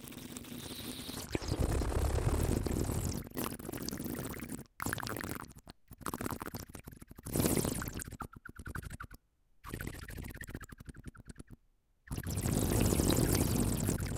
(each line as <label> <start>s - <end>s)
water 12.2s - 14.1s